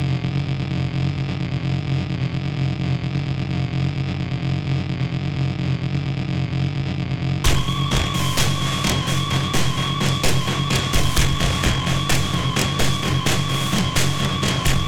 7.4s bitcrushed drums 14.8s
7.5s Overdriven bass tone 14.8s
7.5s wailing alarm noise 14.8s

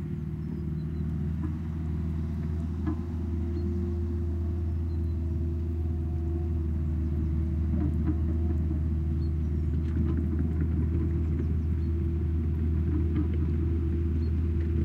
0.0s steel tracked 6 ton excavator traveling from right to left 14.8s

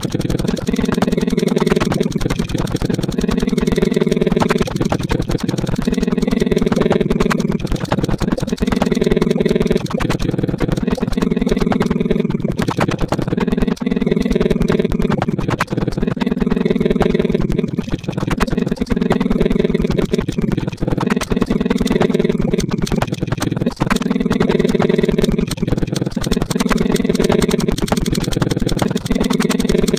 0.0s Strange Regular Signal 15.7s

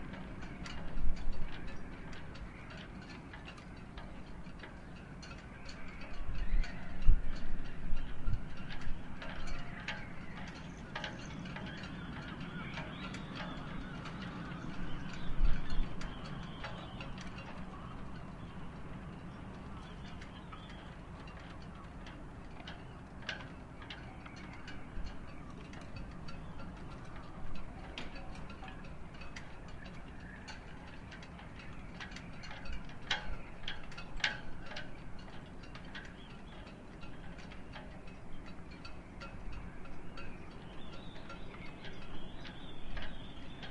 0.0s yacht rigging knocking 43.7s

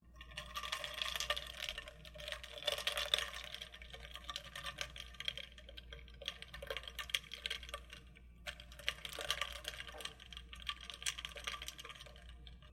0.0s stirring ice in a cup 12.7s

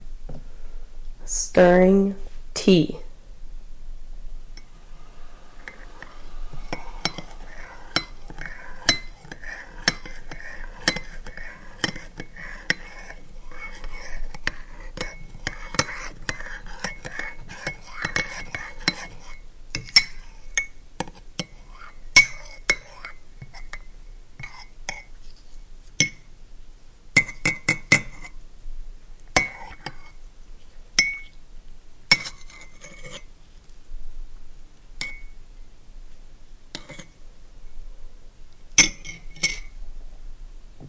5.6s stirring tea 26.2s
27.2s stirring tea 28.4s
29.3s stirring tea 31.4s
32.1s stirring tea 33.3s
36.7s stirring tea 37.1s
38.8s stirring tea 39.8s

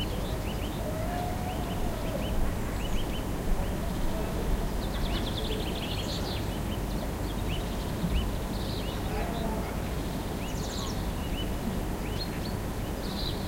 0.0s birds 13.4s

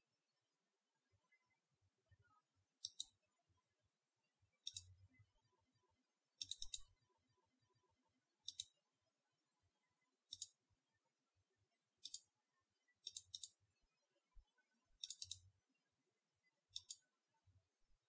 2.8s Mouse clicks 3.2s
4.6s Mouse clicks 4.9s
6.4s Mouse clicks 6.9s
8.4s Mouse clicks 8.8s
10.3s Mouse clicks 10.6s
12.0s Mouse clicks 12.3s
13.0s Mouse clicks 13.6s
15.0s Mouse clicks 15.5s
16.7s Mouse clicks 17.1s

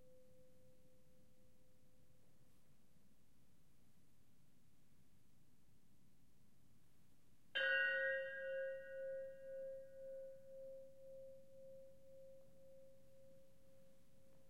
7.6s bells - first played one by one, then some clusters 10.2s

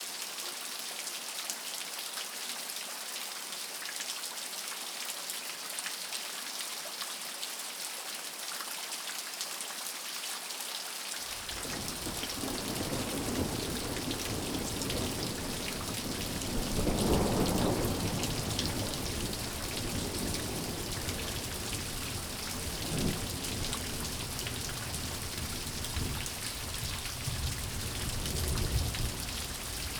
0.0s rain 29.9s
11.5s thunder 29.9s

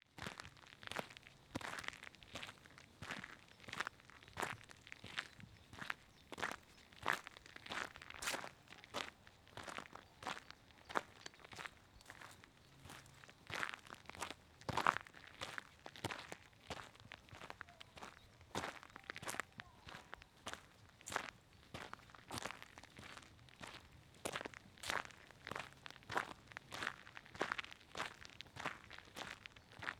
0.3s walking on gravel in walking boots 23.8s

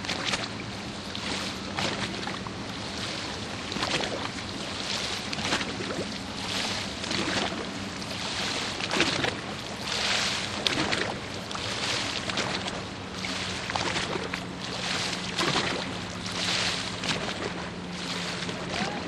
0.0s Waves lap the shores 19.0s

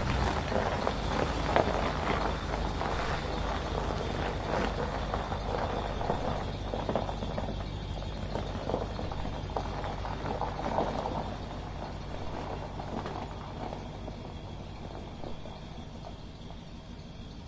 0.0s Van Driving On Gravel 17.4s

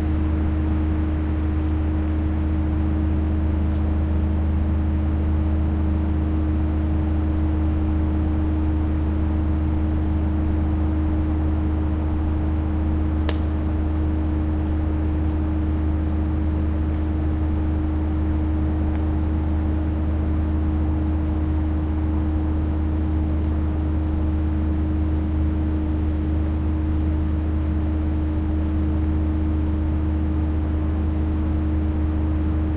0.0s factory humming 32.7s
0.0s trees 32.7s

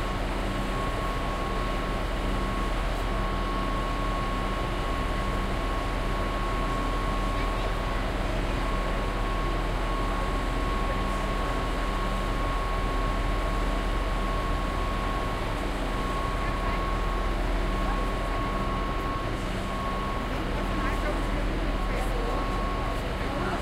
0.0s train, which then departs 23.6s

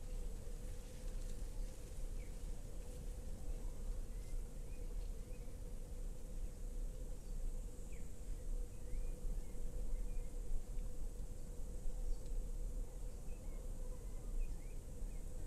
0.0s early cicades 15.4s

